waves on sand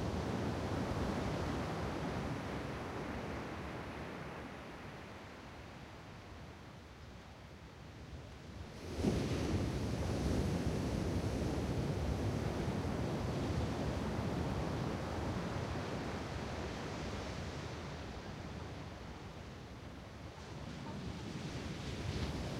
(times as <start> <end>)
8.7 18.2, 20.3 22.5